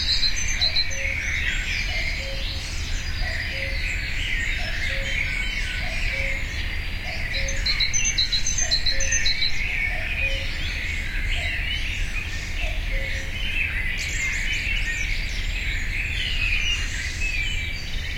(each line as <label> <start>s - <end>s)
cuckoo 0.0s - 10.8s
cuckoo 12.6s - 13.4s